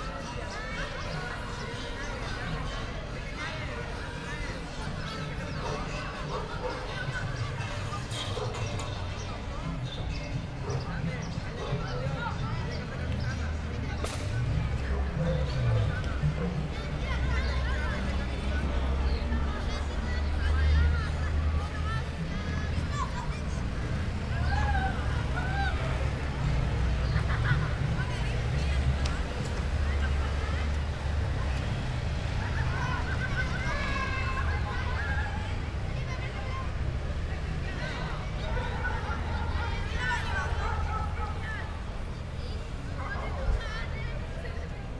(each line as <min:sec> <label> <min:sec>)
0:05.6 dogs 0:06.9
0:08.1 dogs 0:08.9
0:10.6 dogs 0:12.2